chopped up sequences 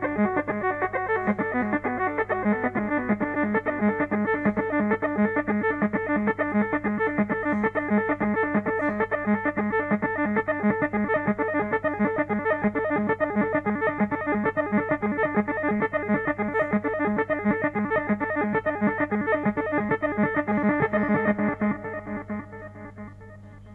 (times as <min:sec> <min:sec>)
0:10.2 0:23.3